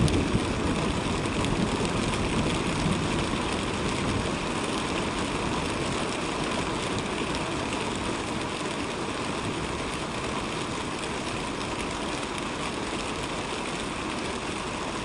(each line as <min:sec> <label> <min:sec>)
0:00.0 rain 0:15.0